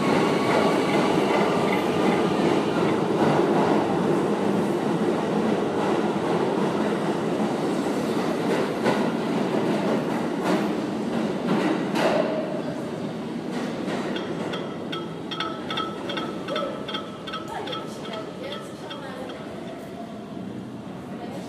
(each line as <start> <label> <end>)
0.0 trains go past 21.4